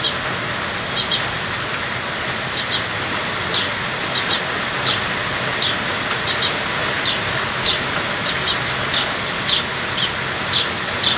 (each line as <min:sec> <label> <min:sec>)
0:00.0 birds chirping 0:11.1
0:00.0 fountain 0:11.1
0:00.0 rain 0:11.1